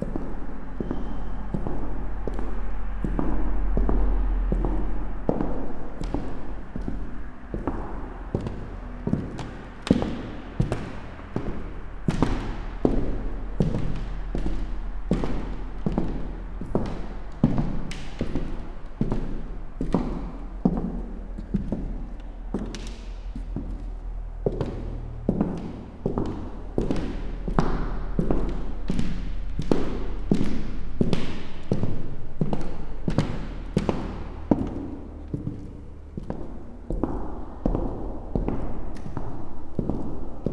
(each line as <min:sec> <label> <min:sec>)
0:00.0 echoing them with clogs 0:40.5